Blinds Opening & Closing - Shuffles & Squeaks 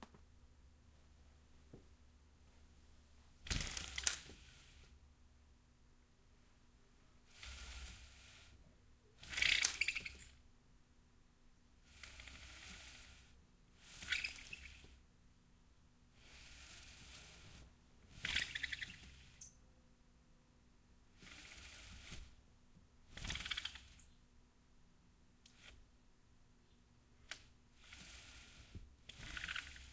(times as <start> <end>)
3.5 4.8, 7.3 8.6, 9.2 10.4, 13.8 15.0, 16.2 19.5, 27.8 29.9